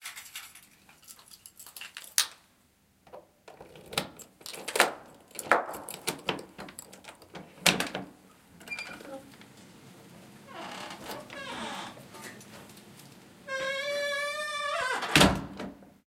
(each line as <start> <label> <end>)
3.5 the door opens and gets closed 9.3
8.6 Key unlocks a squeaky door 9.2
10.5 the door opens and gets closed 12.6
13.5 Key unlocks a squeaky door 15.4
13.5 the door opens and gets closed 15.8